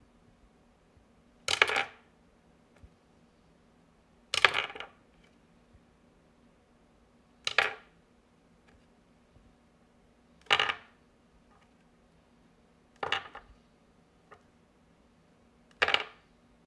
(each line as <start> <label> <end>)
1.5 plastic headset being dropped onto a wooden desk 2.0
7.5 plastic headset being dropped onto a wooden desk 7.9
10.4 plastic headset being dropped onto a wooden desk 10.9
13.0 plastic headset being dropped onto a wooden desk 13.5
15.7 plastic headset being dropped onto a wooden desk 16.2